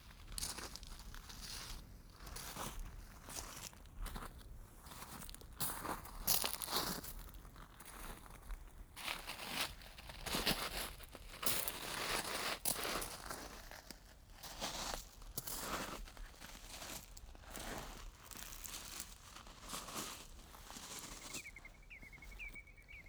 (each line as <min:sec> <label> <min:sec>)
0:09.6 walking over shingle beach 0:23.0
0:21.1 Many seabirds in background 0:23.0